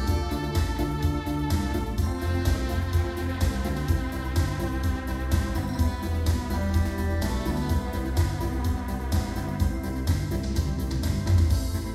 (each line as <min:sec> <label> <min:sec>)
0:00.0 digital piano 0:11.9